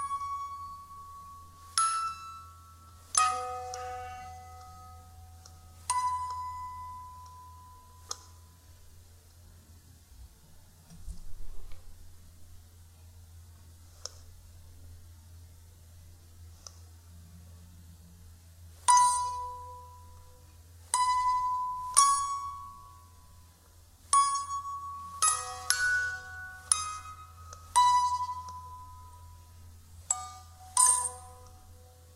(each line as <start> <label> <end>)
0.0 Creepy Music Box 8.5
21.0 Creepy Music Box 23.4
24.2 Creepy Music Box 32.1